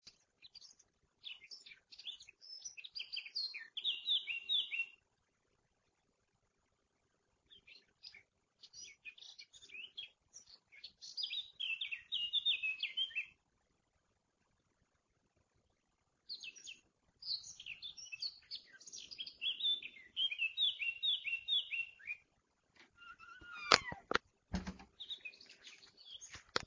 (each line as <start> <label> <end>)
0.0 fabulous bird singing 5.0
7.5 fabulous bird singing 13.4
16.3 fabulous bird singing 22.3
23.0 fabulous bird singing 24.2
24.9 fabulous bird singing 26.6